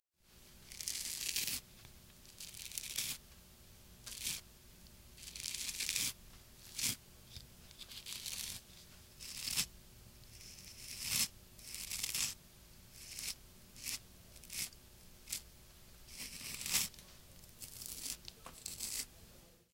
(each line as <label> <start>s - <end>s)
scraped a butter knife over my beard 0.7s - 1.6s
scraped a butter knife over my beard 2.3s - 3.2s
scraped a butter knife over my beard 4.1s - 4.4s
scraped a butter knife over my beard 5.2s - 8.6s
scraped a butter knife over my beard 9.2s - 9.7s
scraped a butter knife over my beard 10.3s - 12.4s
scraped a butter knife over my beard 13.0s - 15.4s
scraped a butter knife over my beard 16.1s - 17.0s
scraped a butter knife over my beard 17.6s - 19.1s